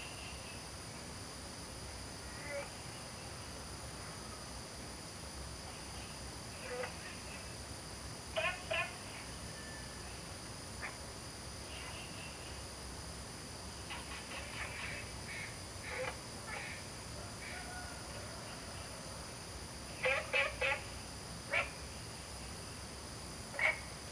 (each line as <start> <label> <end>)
8.4 Frog calls 9.2
13.9 Frog calls 16.9
20.0 Frog calls 21.8
23.5 Frog calls 24.0